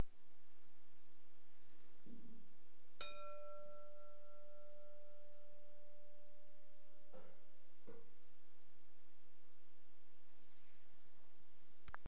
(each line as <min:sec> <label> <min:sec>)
0:03.0 Striking glass bowl with the nail 0:08.1